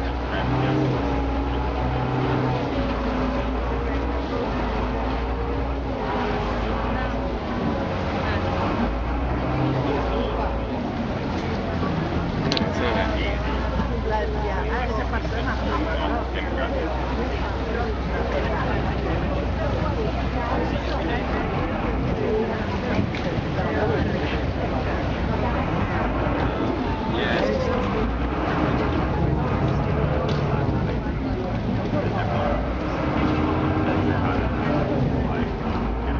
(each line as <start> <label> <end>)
0.0 engine revving 13.2
0.0 chatter of other passengers on the boat 36.1
0.0 water 36.1
24.5 engine revving 36.1